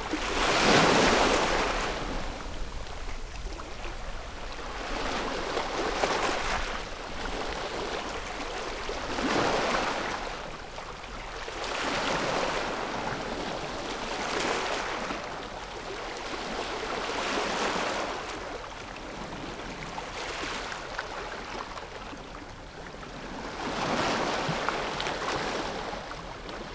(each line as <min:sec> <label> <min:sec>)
0:00.0 waves splashing on a rocky sea shore 0:10.4